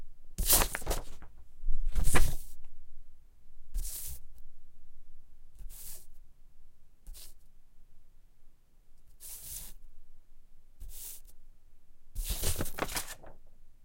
Paper Manipulation On Glass 12.2 - 13.4

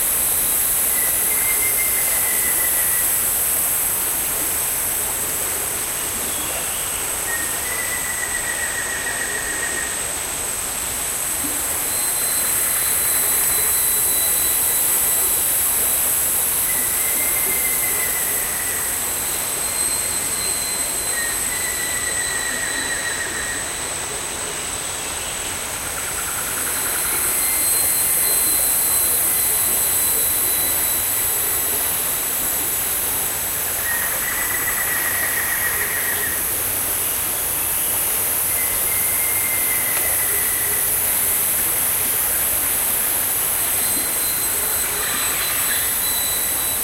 creek 0.0 - 46.8
insects 0.0 - 46.8
rain 0.0 - 46.8

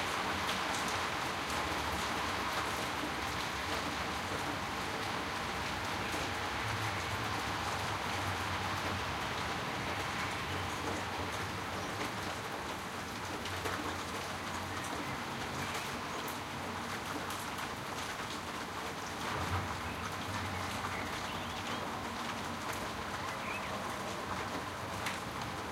soft rain decreasing 0.0 - 25.7
typical city sounds 0.0 - 25.7

